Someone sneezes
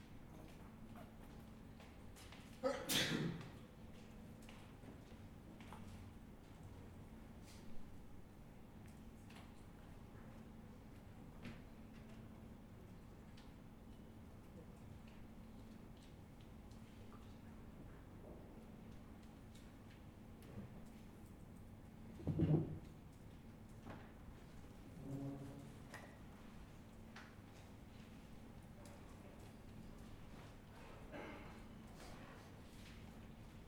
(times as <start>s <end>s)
2.6s 3.6s, 31.1s 31.6s